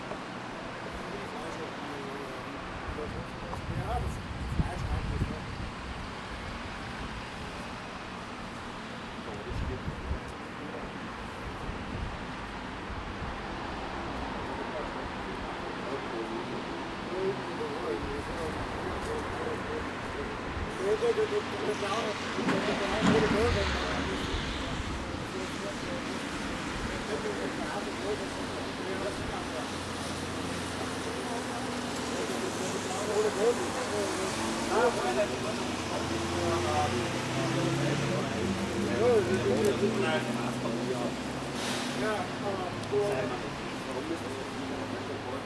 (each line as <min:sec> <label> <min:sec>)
0:00.0 People talking at tramway station 0:45.4
0:00.0 cars driving around 0:45.4